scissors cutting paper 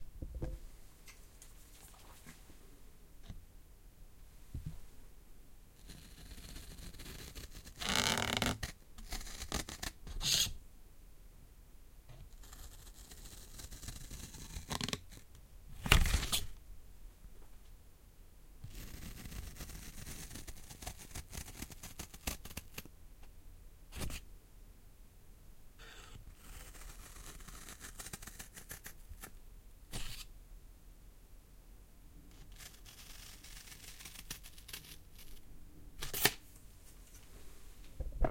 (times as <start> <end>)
32.5 35.4